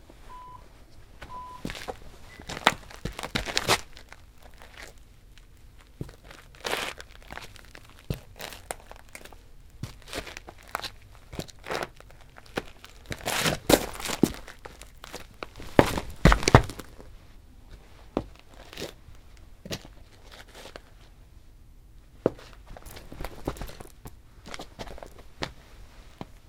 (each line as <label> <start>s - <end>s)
Foley walk on tile covered with gritty dirt 1.2s - 17.1s
Foley walk on tile covered with gritty dirt 17.7s - 21.1s
clothing rustle 22.2s - 26.4s
Foley walk on tile covered with gritty dirt 22.2s - 25.6s